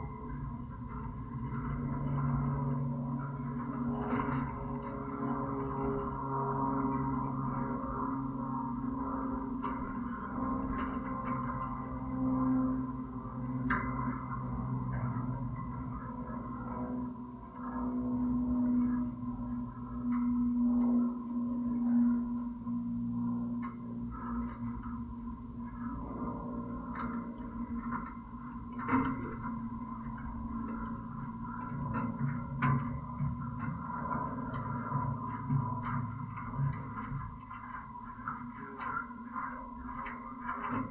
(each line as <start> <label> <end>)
0.0 constant drone 40.9
0.0 plane overhead 40.9